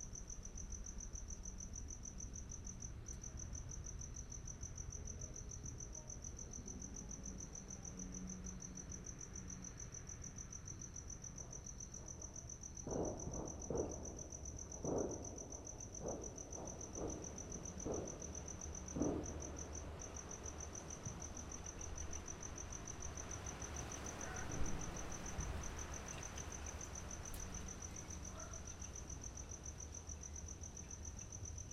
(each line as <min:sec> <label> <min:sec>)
0:00.0 Wind 0:31.7
0:12.8 Fireworks displays 0:19.6